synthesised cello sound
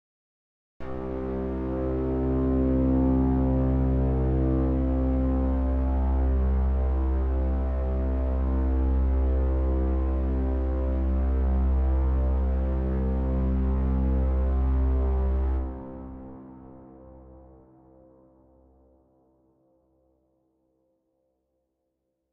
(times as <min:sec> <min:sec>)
0:00.8 0:17.3